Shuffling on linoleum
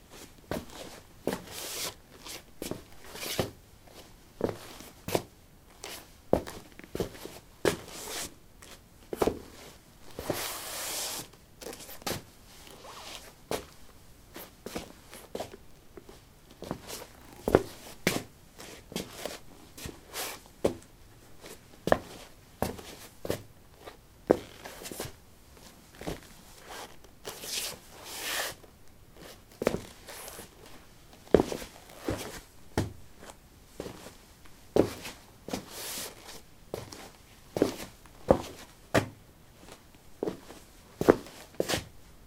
24.3s 34.2s, 34.8s 41.9s

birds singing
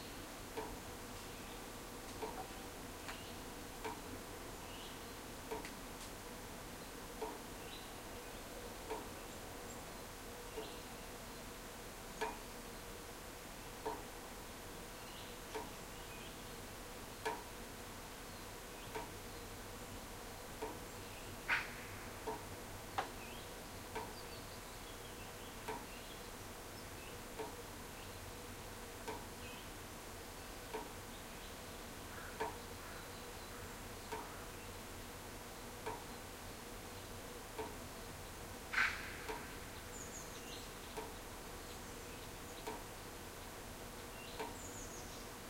30.4s 34.8s, 38.0s 42.8s, 43.4s 45.4s

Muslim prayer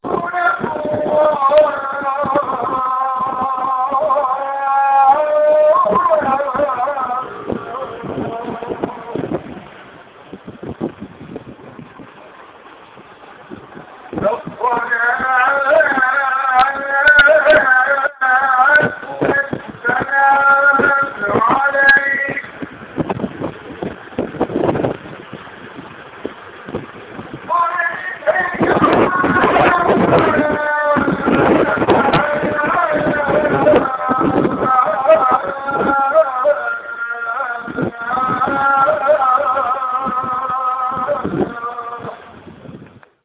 0.0s 9.8s, 13.8s 23.1s, 27.4s 42.5s

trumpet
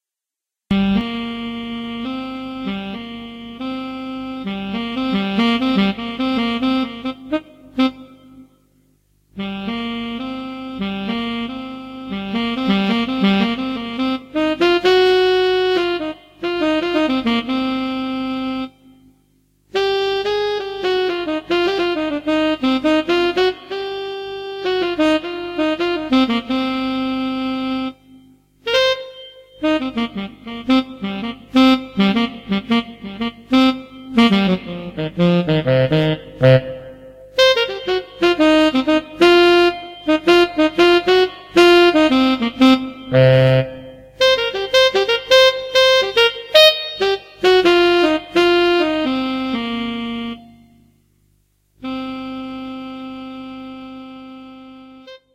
28.6s 50.7s

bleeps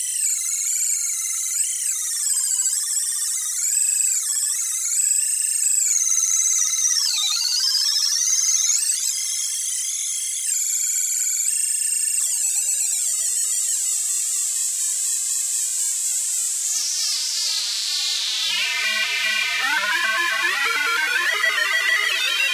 18.5s 22.5s

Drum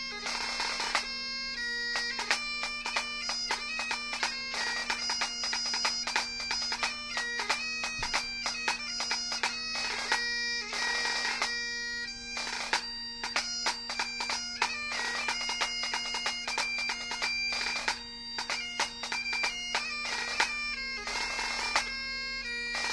7.8s 8.8s

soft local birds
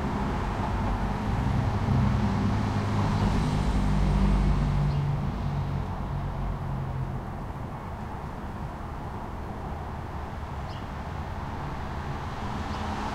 4.8s 5.3s, 10.0s 11.1s, 12.5s 13.1s

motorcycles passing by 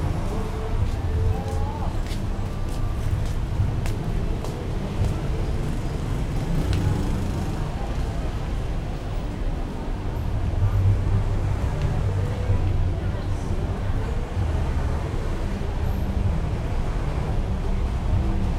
4.2s 15.1s

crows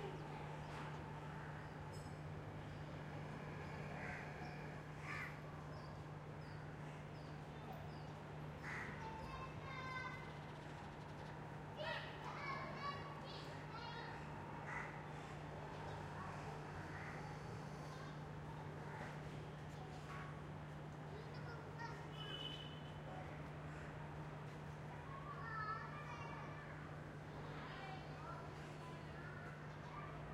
3.8s 5.4s, 8.6s 9.2s, 14.6s 15.3s

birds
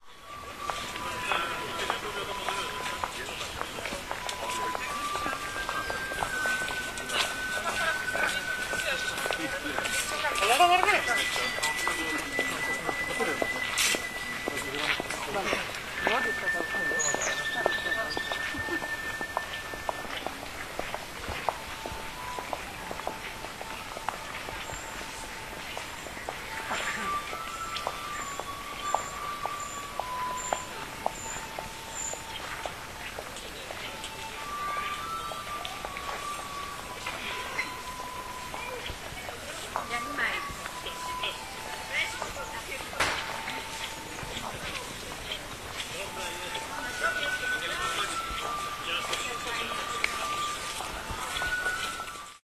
23.3s 39.1s

